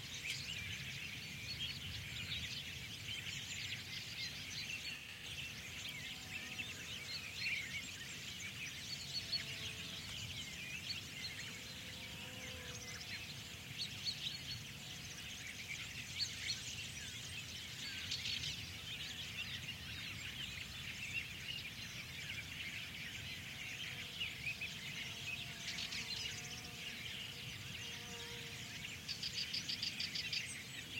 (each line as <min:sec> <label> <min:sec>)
0:00.0 bird tweets 0:30.9